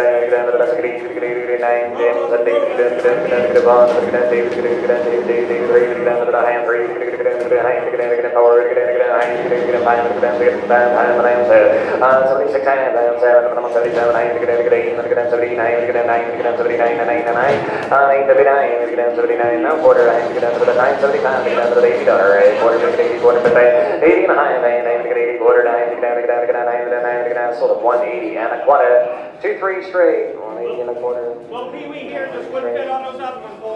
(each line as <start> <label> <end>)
0.0 man is talking 33.7
0.0 people are bidding 33.7